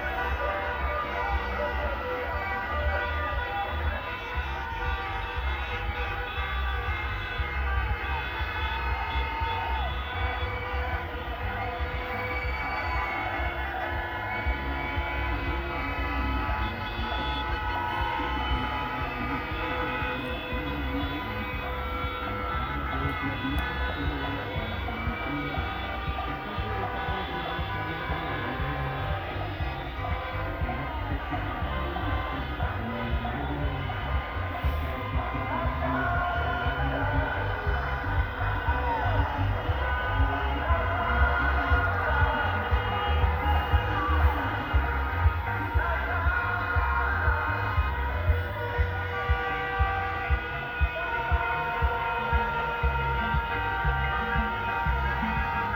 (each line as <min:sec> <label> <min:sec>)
0:00.0 Cortèges de voitures 0:55.7